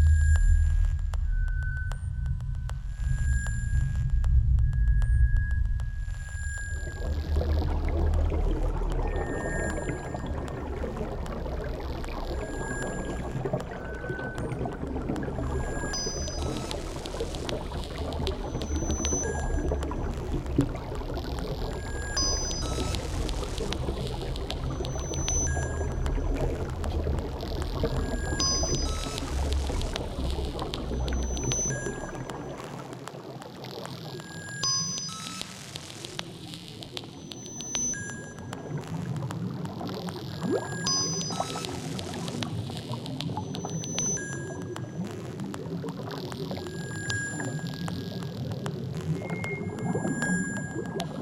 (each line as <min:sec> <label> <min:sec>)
0:00.0 water 0:51.2